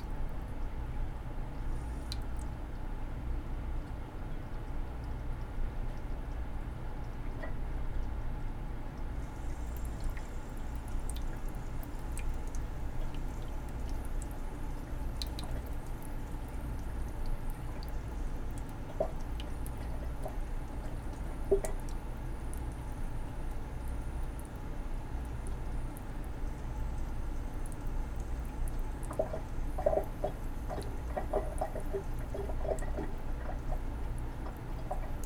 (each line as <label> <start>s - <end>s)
leaky sink drain 27.0s - 35.2s